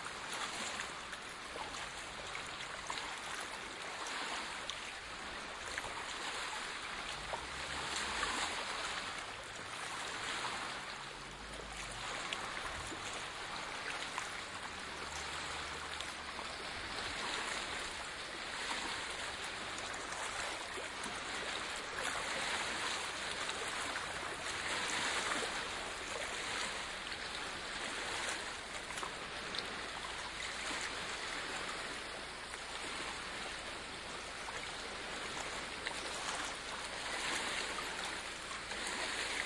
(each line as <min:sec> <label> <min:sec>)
0:00.0 waves of the Loch 0:39.4
0:07.2 trafficnoises 0:20.2